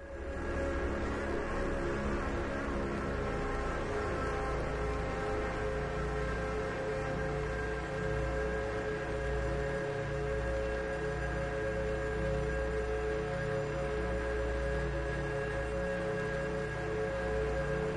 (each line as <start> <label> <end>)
0.0 Drone 8.0